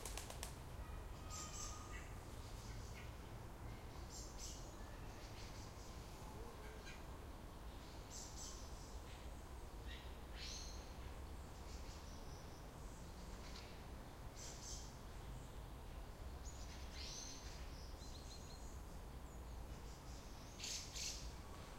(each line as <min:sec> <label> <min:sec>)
0:00.0 wing flaps 0:00.6
0:00.0 birds 0:21.7